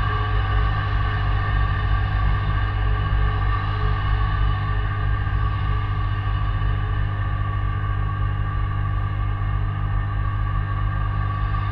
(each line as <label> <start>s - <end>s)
Steady droning hum 0.0s - 11.7s